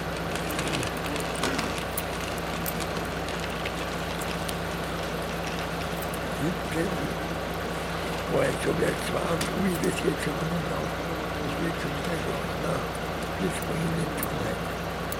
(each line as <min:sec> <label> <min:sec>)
0:06.3 old man singing and talking 0:07.2
0:08.3 old man singing and talking 0:14.6